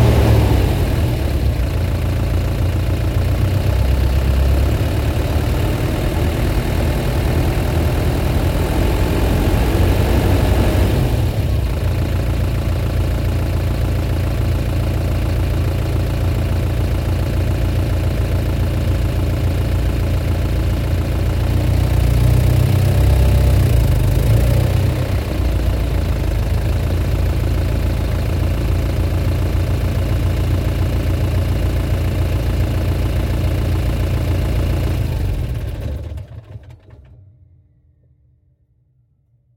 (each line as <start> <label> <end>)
0.0 engine rpm ramps 12.8
0.0 engine off 37.4
21.0 engine rpm ramps 27.0